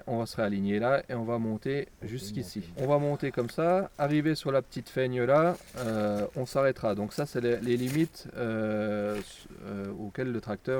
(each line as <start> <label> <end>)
0.0 Consigne 10.4